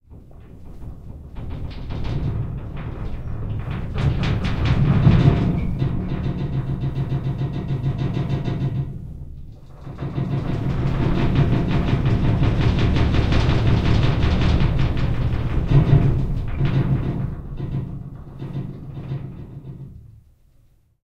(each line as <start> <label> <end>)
0.1 Metal Shaking 20.3